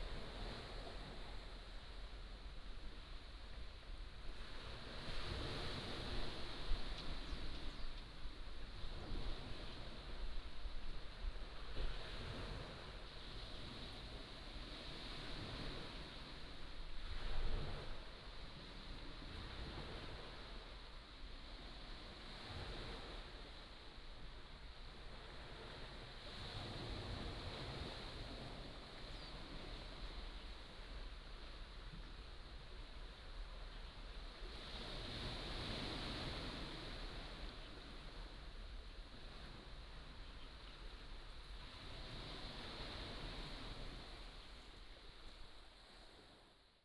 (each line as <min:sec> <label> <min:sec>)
0:00.0 waves 0:46.7